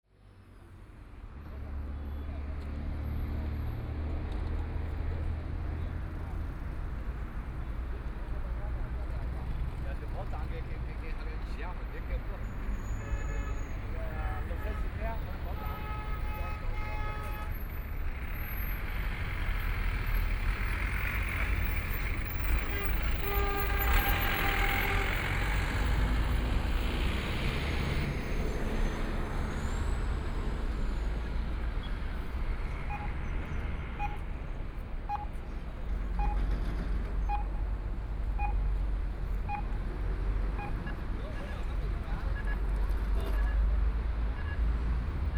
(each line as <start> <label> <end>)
32.6 Traffic signal sounds 42.9